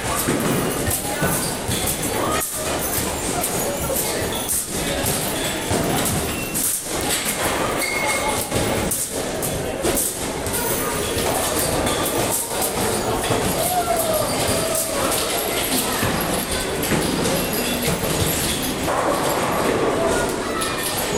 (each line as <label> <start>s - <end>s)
air hockey 0.0s - 21.1s
children 0.0s - 21.1s
people 0.0s - 21.1s